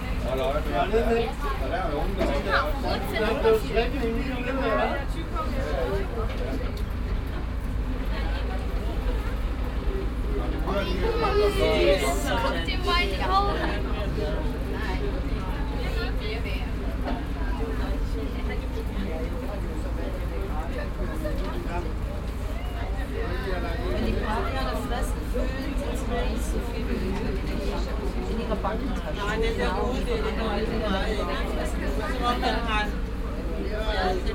ape bus 0.0 - 34.3
international visitors 0.0 - 34.3

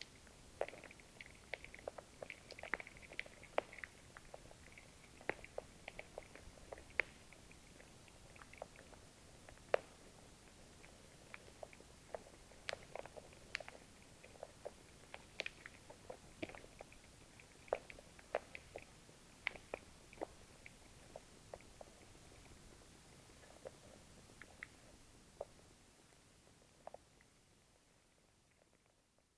Small animals are moving, diging, eating 0.0 - 27.5

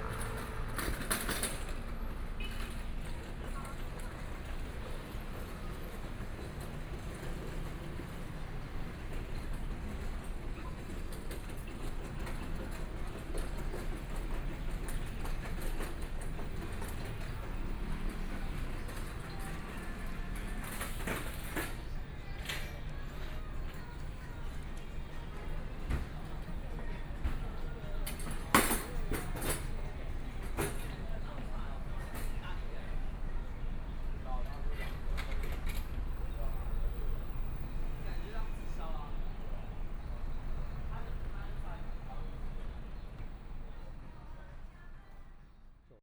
Traffic Sound 0.0 - 45.1
Walking on the Road 0.0 - 45.3

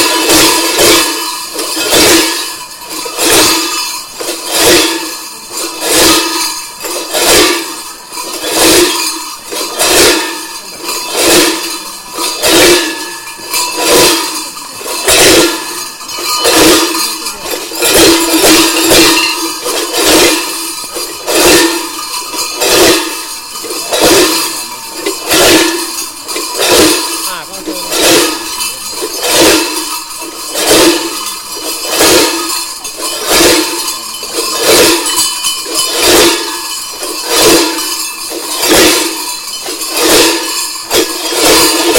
Mamuthones 0.0 - 41.9

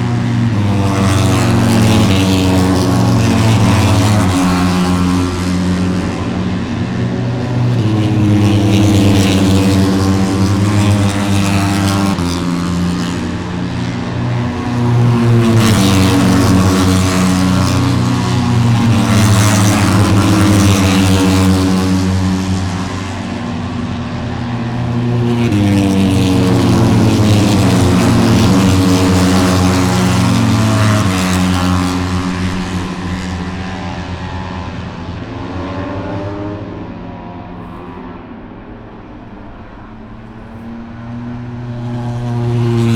motorcycle 0.0 - 42.9

